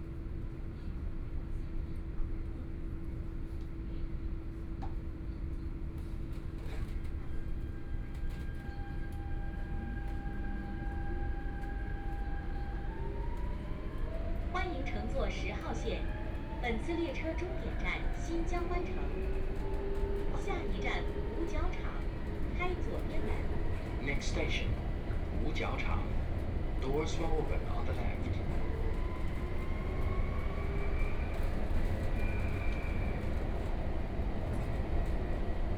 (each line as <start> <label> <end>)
0.0 Subway 35.7